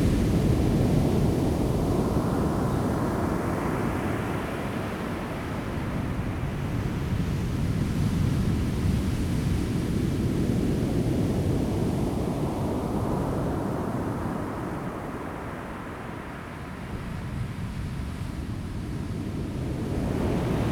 waves 0:19.4 - 0:20.7

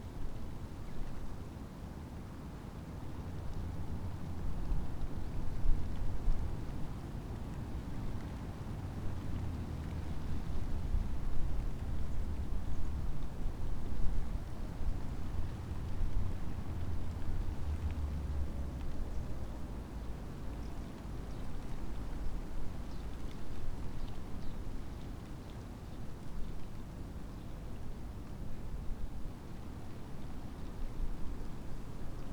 ivy leaves fluttering in the wind 0:04.8 - 0:32.3

